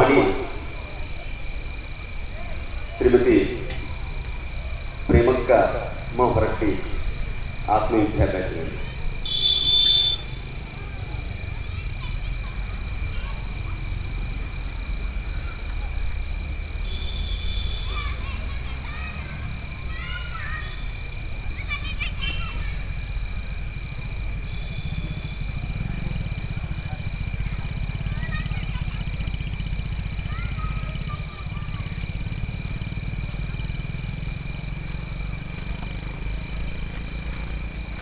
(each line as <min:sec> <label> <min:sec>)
0:00.0 insects 0:38.0